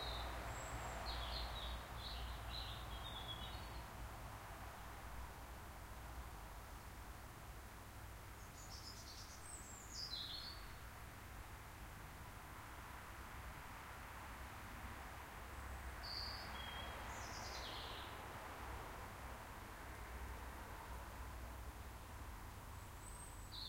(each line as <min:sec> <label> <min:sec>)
0:00.0 bird song 0:04.0
0:00.0 traffic noise 0:23.6
0:00.0 trees rustling 0:23.6
0:08.4 bird song 0:10.8
0:16.0 bird song 0:18.2
0:22.8 bird song 0:23.6